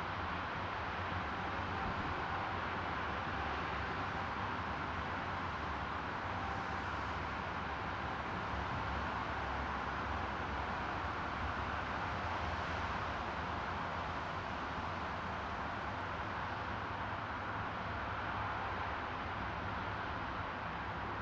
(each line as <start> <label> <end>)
0.0 Highway 21.2